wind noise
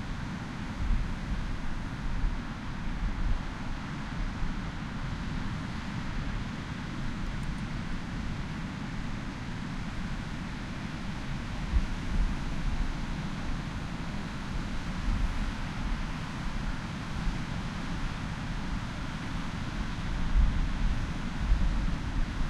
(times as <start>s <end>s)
18.9s 22.4s